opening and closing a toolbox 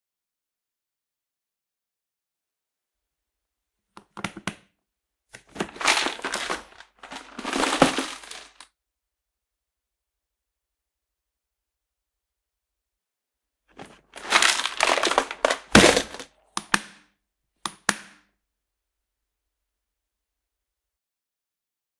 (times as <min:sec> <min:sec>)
0:05.4 0:08.6, 0:13.7 0:17.0